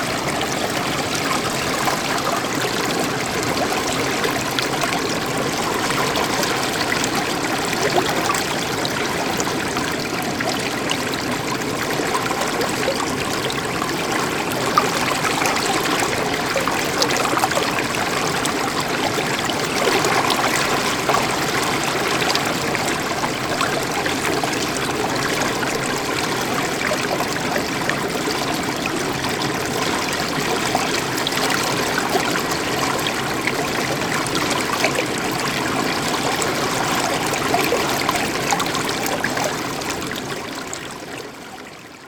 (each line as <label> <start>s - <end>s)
Ursul river 0.0s - 42.0s